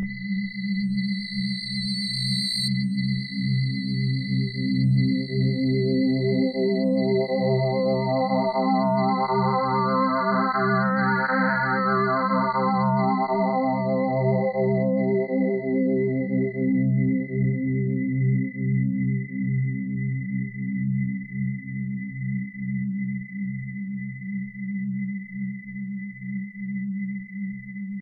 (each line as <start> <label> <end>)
0.0 bass 28.0